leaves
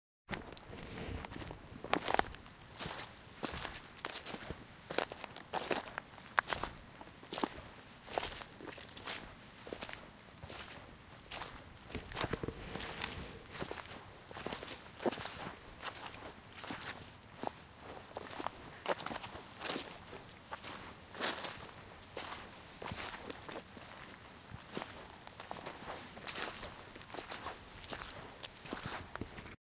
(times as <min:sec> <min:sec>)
0:00.4 0:06.6, 0:11.3 0:17.5